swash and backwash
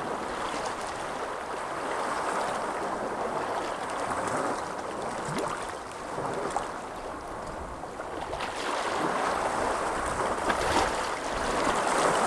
8.0s 12.2s

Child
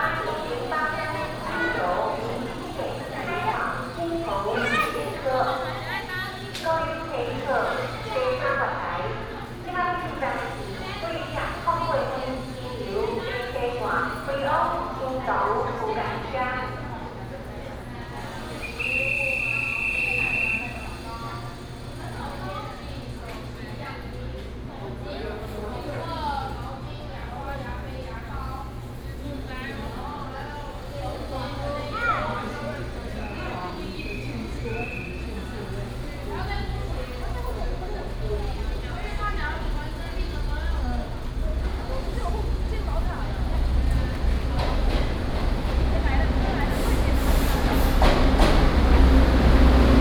4.4s 5.2s

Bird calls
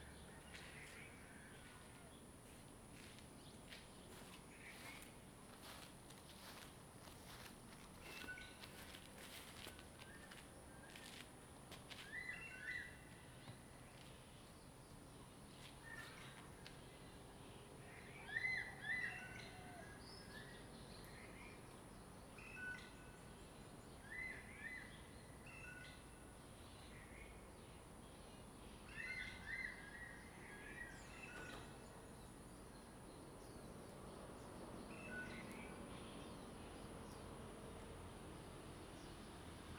17.8s 21.6s

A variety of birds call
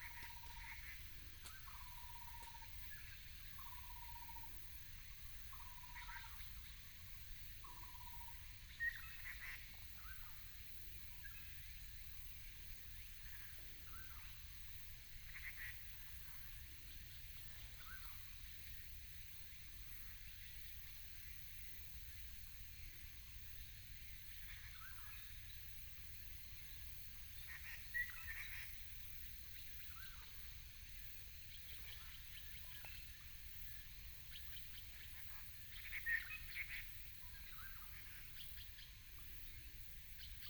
0.0s 4.6s, 34.3s 39.0s

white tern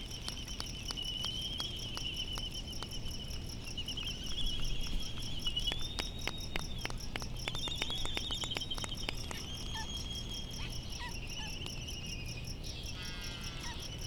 12.8s 13.9s

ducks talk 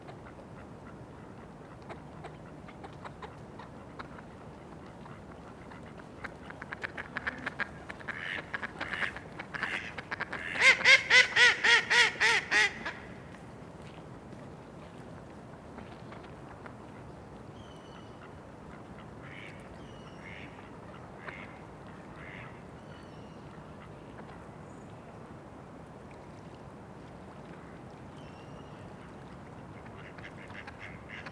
6.6s 12.9s

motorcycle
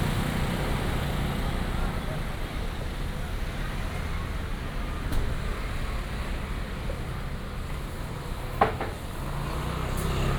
0.0s 2.7s, 8.1s 10.3s

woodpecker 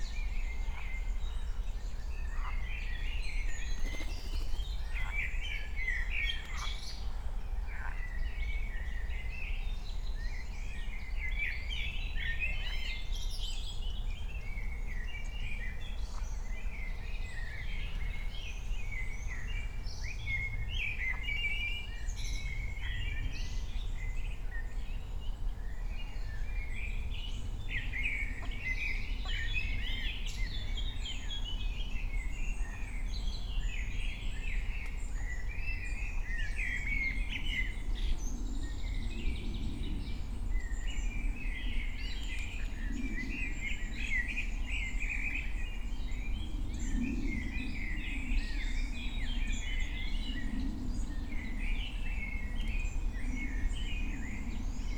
3.8s 5.2s

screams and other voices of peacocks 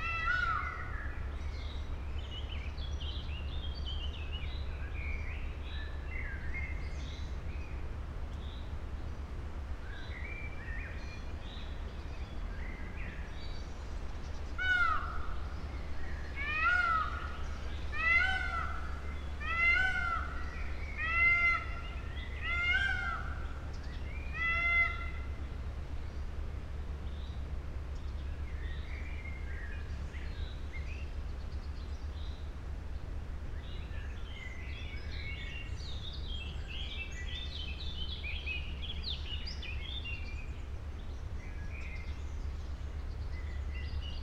0.0s 1.3s, 14.5s 25.4s

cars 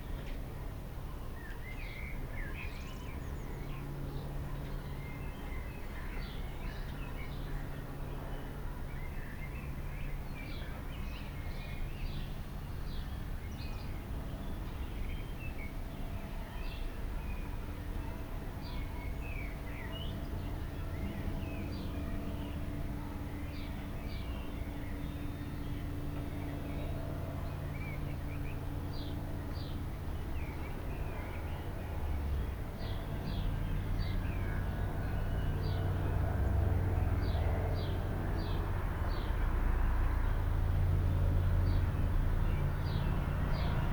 35.1s 43.9s

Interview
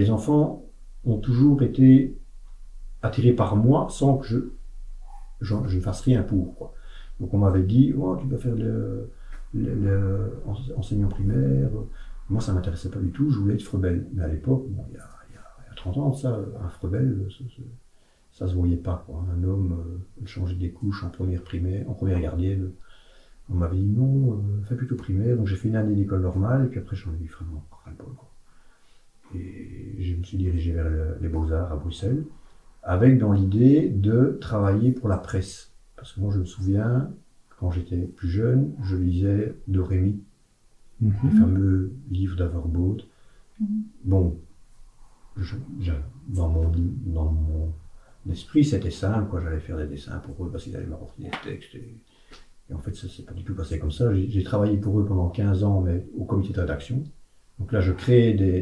41.0s 42.2s

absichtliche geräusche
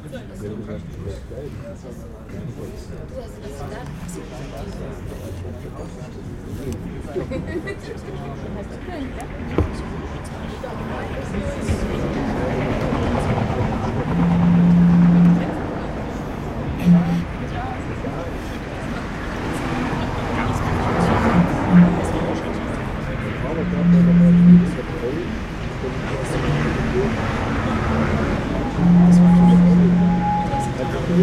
28.0s 31.2s

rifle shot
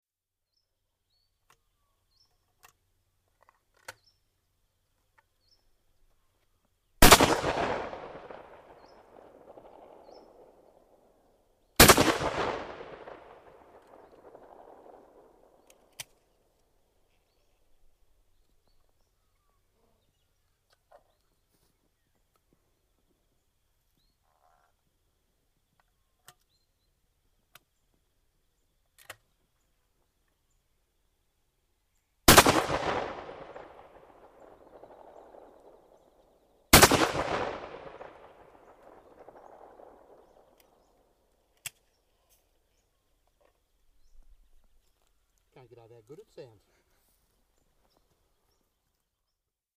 7.0s 11.2s, 11.8s 16.2s, 32.3s 41.1s

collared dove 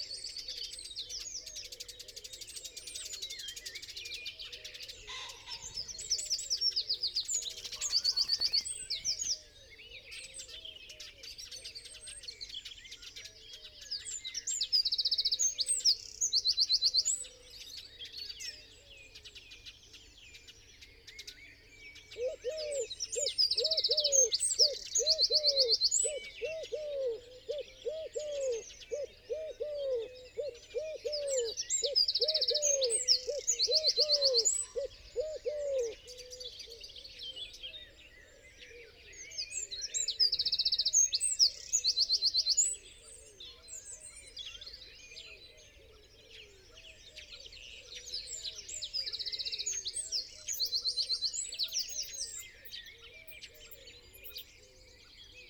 22.1s 36.9s

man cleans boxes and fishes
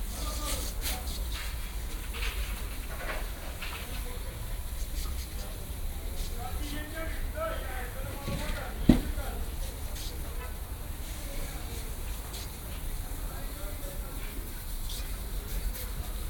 0.0s 10.2s

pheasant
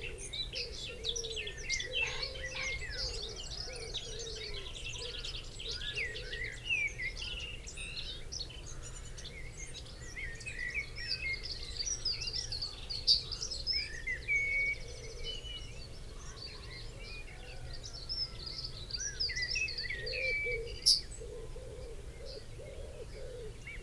0.0s 6.7s, 12.3s 23.8s

